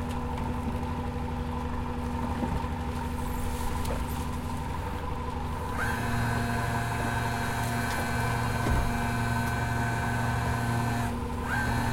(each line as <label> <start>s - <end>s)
Marine cranes moving at sea 0.0s - 11.9s
boat with the engine running 0.0s - 11.9s